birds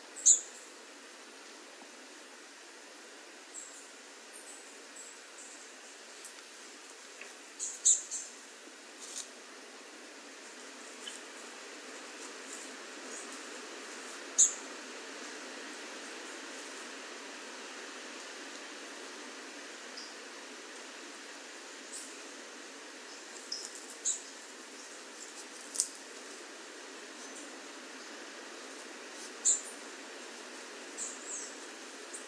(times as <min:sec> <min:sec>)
0:27.1 0:29.9